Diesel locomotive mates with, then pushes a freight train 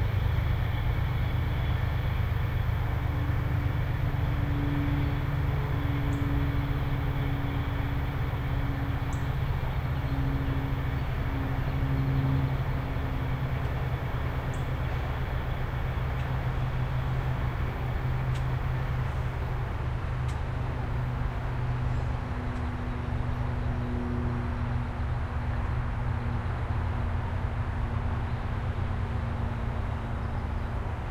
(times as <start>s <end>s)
0.0s 22.7s